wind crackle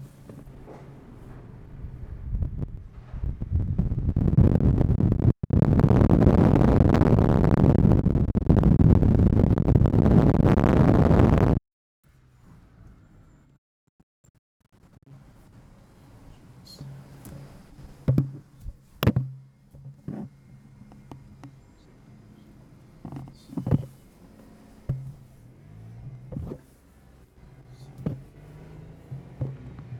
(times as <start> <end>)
0.6 11.6